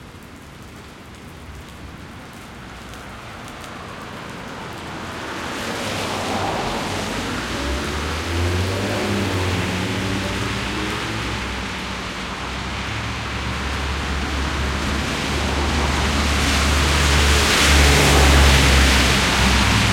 0.0s rain 19.9s
1.3s splash 19.9s
2.4s traffic going past 19.9s
2.6s bus 19.9s

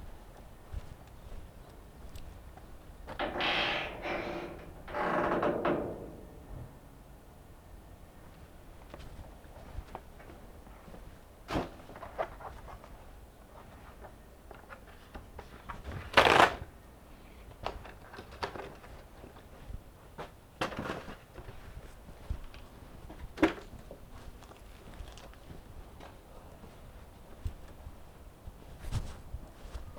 3.1s Garbage Shelter Gate 7.1s

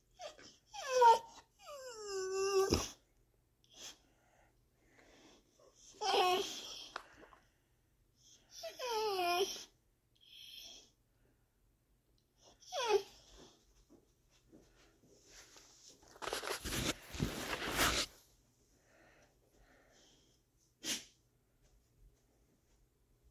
0.1s dog whimpering 3.0s
5.8s dog whimpering 6.9s
8.5s dog whimpering 10.9s
12.6s dog whimpering 13.3s
20.8s sneeze 21.2s

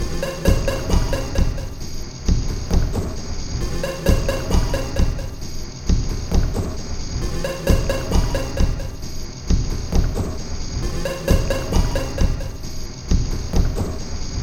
0.0s Drum Loop 14.4s

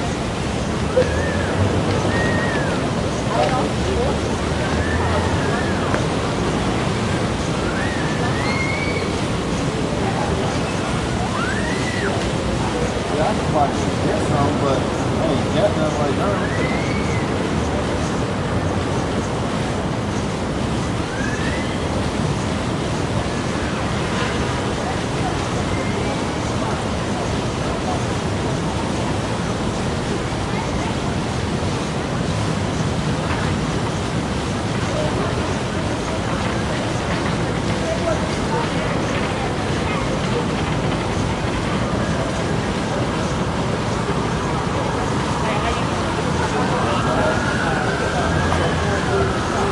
0.0s people 49.7s
46.6s siren 49.7s

